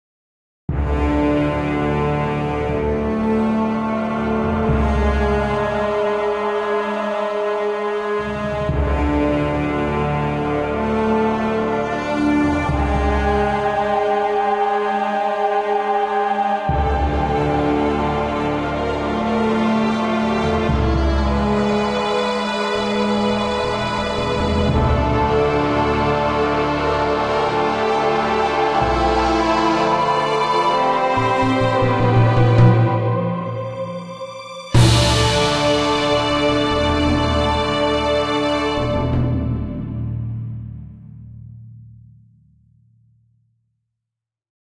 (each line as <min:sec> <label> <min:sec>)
0:00.7 Orchestal music 0:41.3